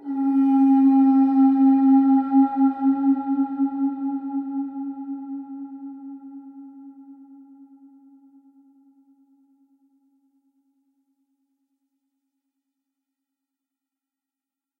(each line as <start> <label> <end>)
0.0 conch shell 9.0